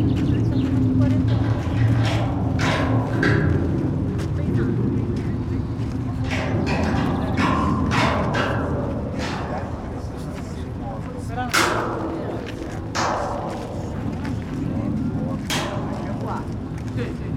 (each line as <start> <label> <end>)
0.0 playing the Sibelius monument 17.3